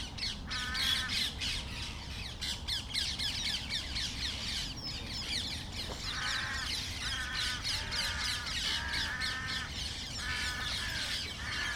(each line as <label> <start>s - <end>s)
parakeets 0.2s - 11.7s
crows 0.5s - 1.3s
crows 5.9s - 11.7s